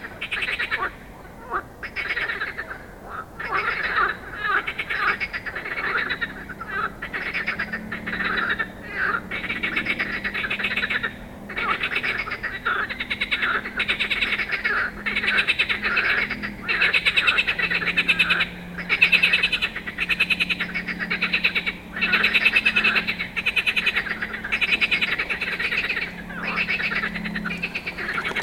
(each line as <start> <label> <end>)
0.0 Frogs 28.4